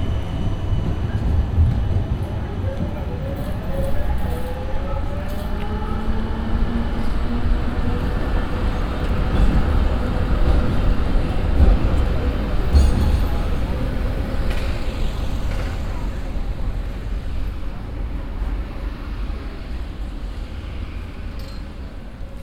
0.0s tourists crossing the street 22.4s
0.0s tram leaving the tram stop 22.4s

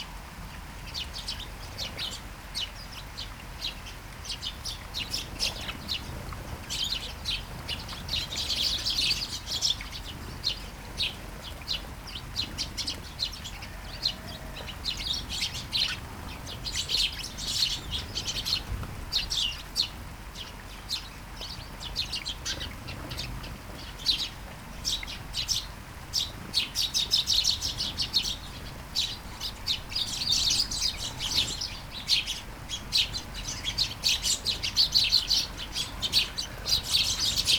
0.6s Flying sparrows 37.5s

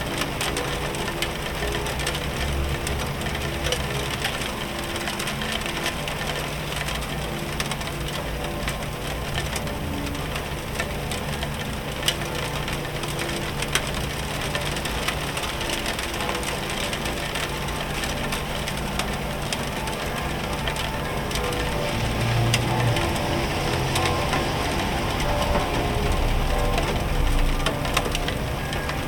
0.0s Church Bells 29.0s
0.0s Icy Sharp Rain 29.0s
0.0s Sounds From The Streets 29.0s

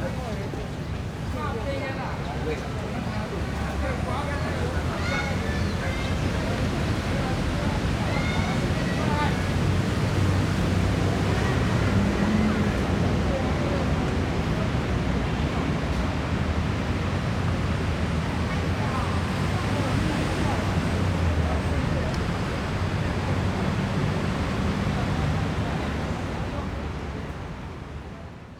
0.0s Children 13.5s
0.0s Traffic Sound 28.5s

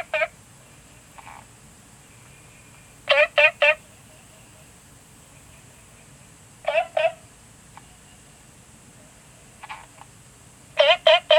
0.0s Frogs chirping 7.2s

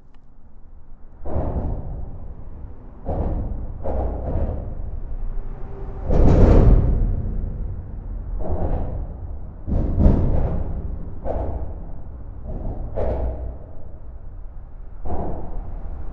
1.2s trucks are driving fast, doing huge impacts on the bridge structure 16.1s

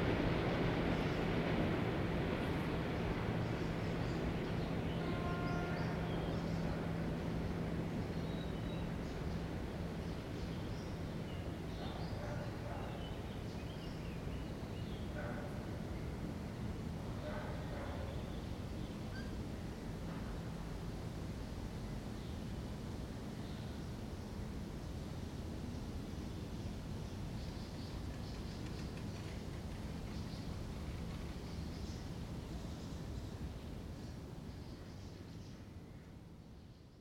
0.0s Two suburban electric trains are moving in opposite directions 37.0s
3.4s singing of birds 15.5s

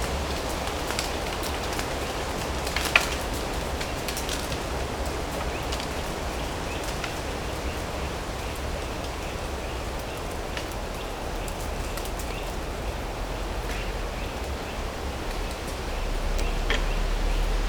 0.0s trees and wind make a mesmerizing sound 17.6s
7.9s traffic from the nearby road 17.6s

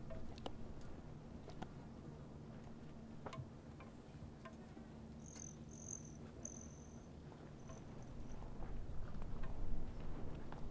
0.0s hummingbirds 8.6s
3.3s bamboo windchimes 8.5s
5.2s flies 8.3s

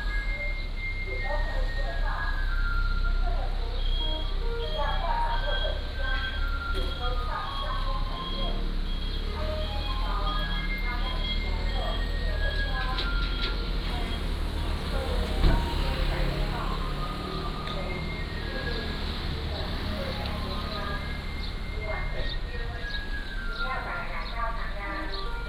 0.0s Garbage truck 25.4s
0.0s Walking in the Street 25.4s
0.4s Traffic Sound 25.4s
7.3s Birds singing 25.4s

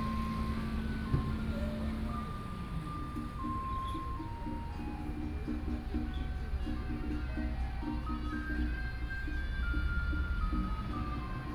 0.0s Traffic Sound 8.2s
0.0s Garbage Truck 11.5s

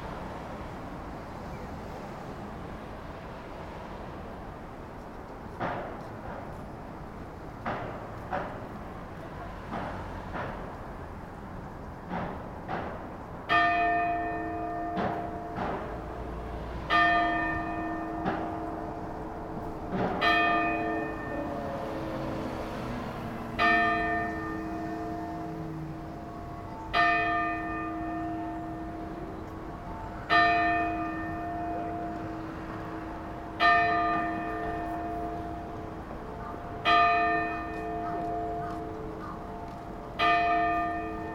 13.4s Clock Tower strikes 12 41.3s

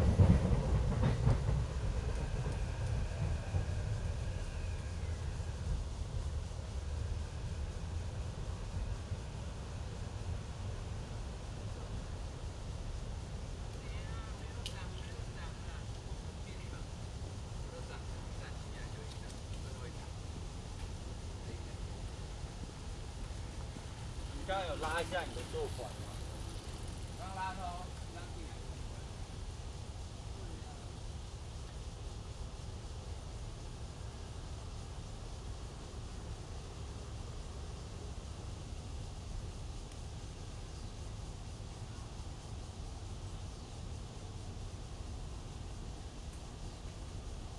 0.0s MRT trains through 47.5s
22.0s Traffic Sound 29.3s
22.8s Bicycle sound 29.3s

